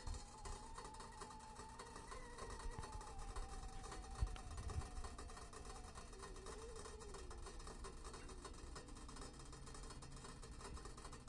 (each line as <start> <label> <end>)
0.0 whistle 7.7
0.0 boiling 11.2
0.0 crackling 11.2